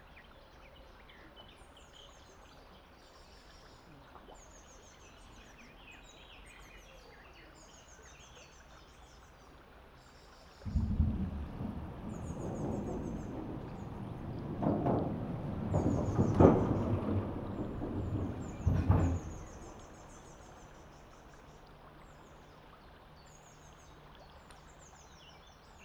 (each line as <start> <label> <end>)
0.0 soft murmur of the river 25.8
0.1 numerous birds singing and calling 25.8
10.7 local train passing by 21.7
10.7 Bicycles and small motorbikes passing over the bridge 22.4